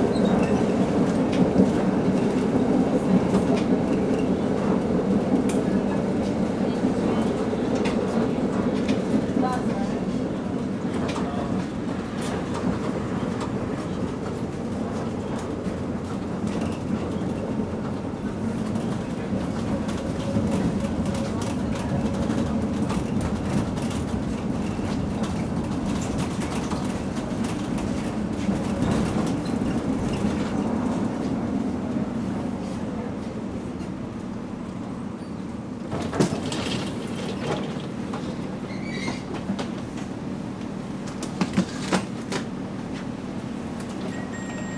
Old model tram 0.0 - 31.4
Old model tram 33.6 - 44.7

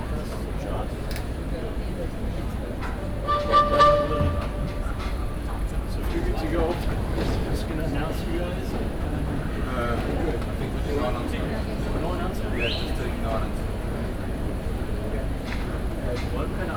distant audience movements 2.7 - 7.4
playing the trumpet 3.0 - 5.7
different instrument sounds 3.0 - 5.7

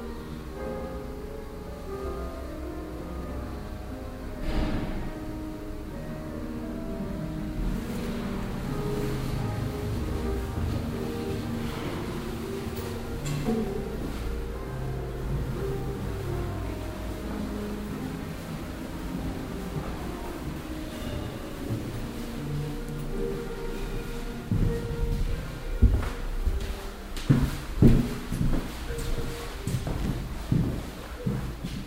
verschiedenen musikalischen etitüden 0.0 - 31.8

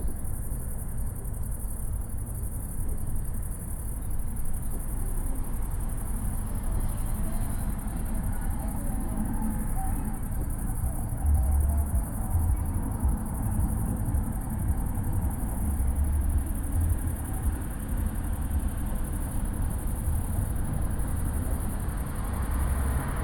Night crickets 0.0 - 23.2
trains 0.0 - 23.2
cars 0.1 - 23.2

